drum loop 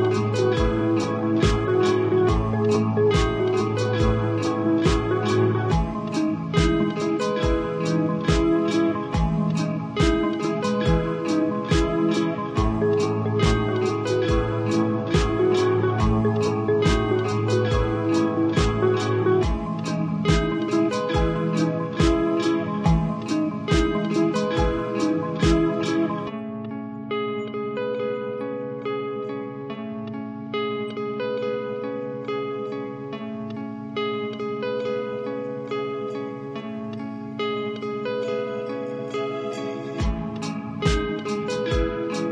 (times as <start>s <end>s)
0.0s 26.3s, 40.0s 42.3s